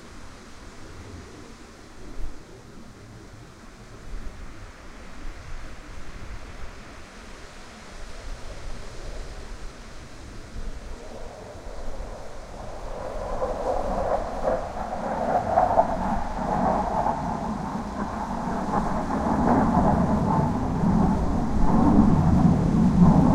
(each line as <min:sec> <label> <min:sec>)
0:00.0 wind 0:23.3
0:08.4 F-16 Fighting Falcon flying low 0:23.3